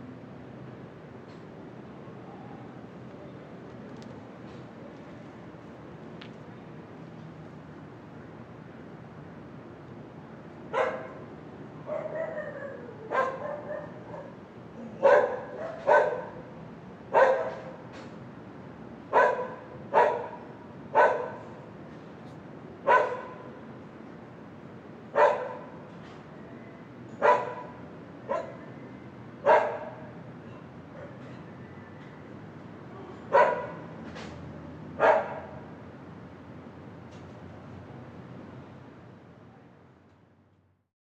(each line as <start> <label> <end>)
0.0 night city 40.9
10.7 dog barking 11.2
11.9 dog barking 14.4
15.0 dog barking 16.4
17.1 dog barking 17.7
19.1 dog barking 20.4
21.0 dog barking 21.4
22.9 dog barking 23.4
25.2 dog barking 25.7
27.2 dog barking 28.6
29.4 dog barking 30.1
32.9 people talking very far away 33.4
33.3 dog barking 33.9
35.0 dog barking 35.6